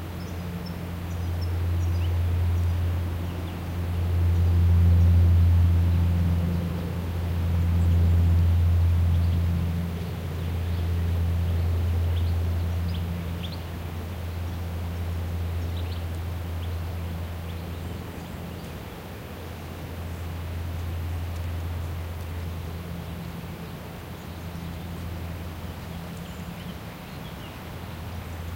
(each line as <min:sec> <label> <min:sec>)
0:00.0 Rumble of an airplane overheading pine forest 0:28.5
0:00.0 wind on trees 0:28.5
0:25.7 many bird (mostly Warbler) calls 0:28.5